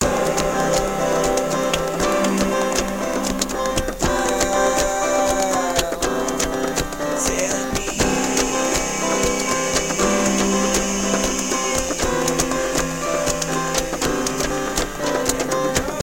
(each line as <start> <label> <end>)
0.0 drum beat 16.0
0.0 acoustic guitar 16.0
0.0 piano 16.0
0.0 synth 16.0
0.0 vocal loops 16.0